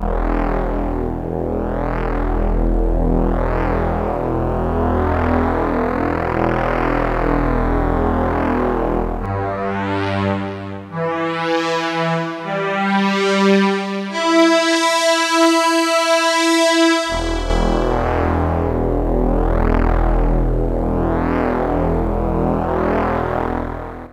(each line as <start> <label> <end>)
17.0 fat supersquare sound 19.1